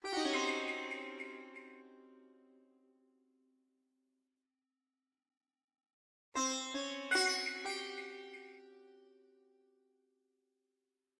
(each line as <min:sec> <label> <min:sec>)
0:00.0 Sitar 0:02.9
0:06.4 Sitar 0:09.6